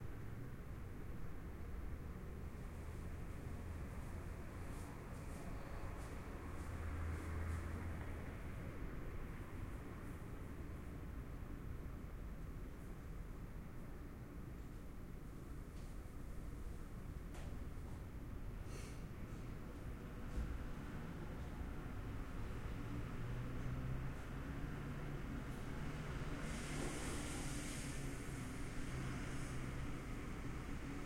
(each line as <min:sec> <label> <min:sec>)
0:18.7 Traffic humming 0:31.0